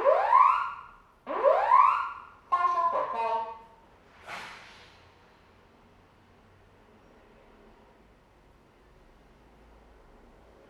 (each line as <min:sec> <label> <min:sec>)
0:00.0 test fire alarm system 0:03.6